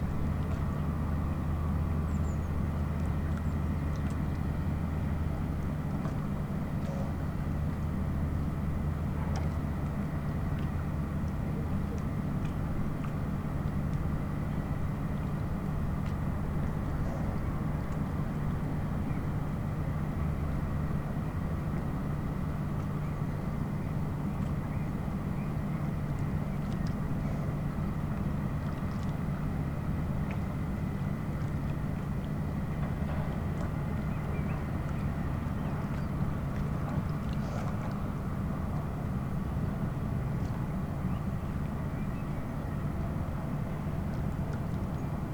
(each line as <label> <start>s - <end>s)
lapping waves 0.0s - 45.3s
noise of the concrete factory 32.8s - 33.7s